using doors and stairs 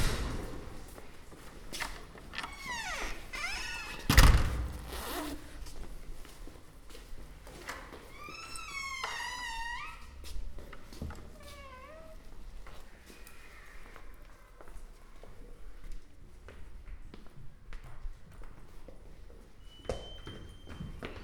0.0 5.8, 7.4 12.3

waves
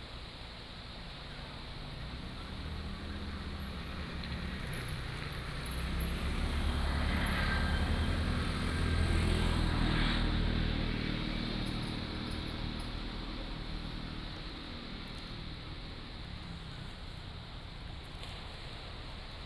16.2 19.4

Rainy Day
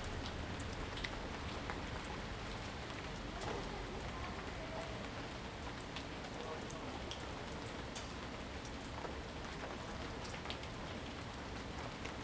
0.0 6.2

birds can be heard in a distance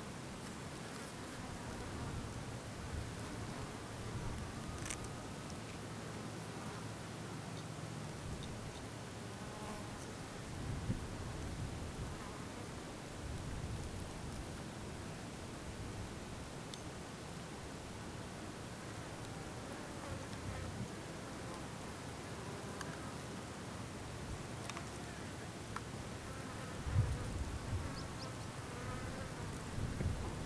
27.4 28.7

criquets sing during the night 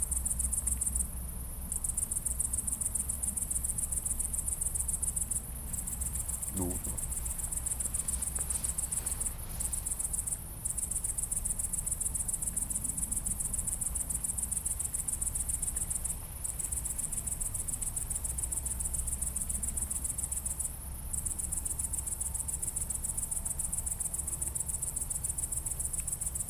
4.8 12.5

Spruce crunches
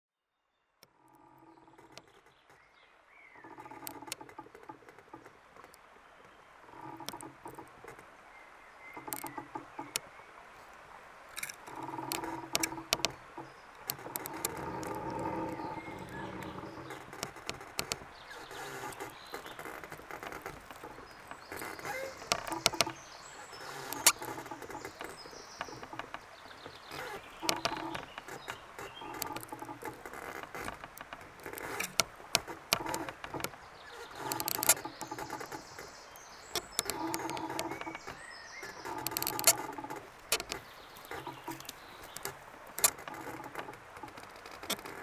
11.3 13.2, 26.9 33.4, 34.0 43.4

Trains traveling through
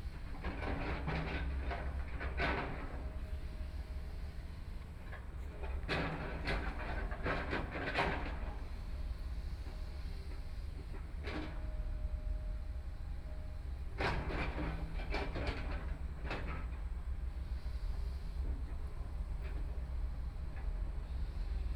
15.9 21.7

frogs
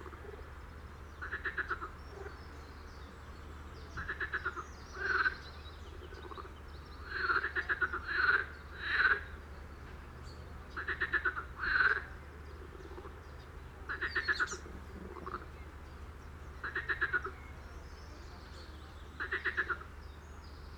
1.2 2.5, 3.9 9.4, 10.8 15.8, 16.6 17.6, 19.0 19.9

